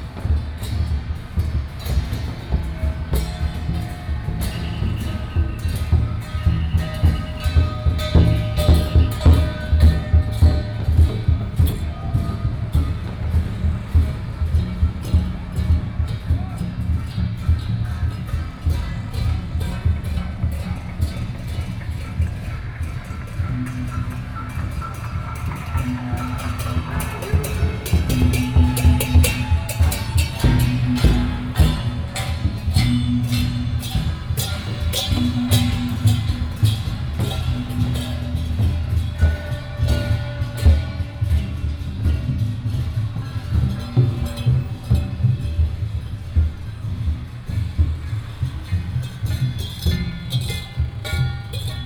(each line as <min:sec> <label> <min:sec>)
0:00.0 traffic sound 0:51.8